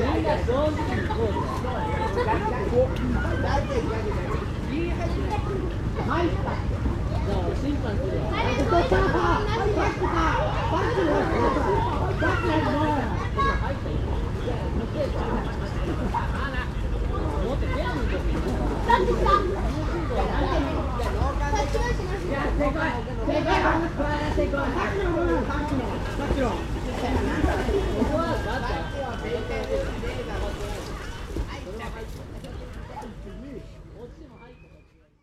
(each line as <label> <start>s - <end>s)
teenage boys playing water ball 0.0s - 34.5s
water movements 0.0s - 35.1s
kids laughing 0.8s - 4.3s
kids laughing 8.3s - 13.9s
kids laughing 18.8s - 20.9s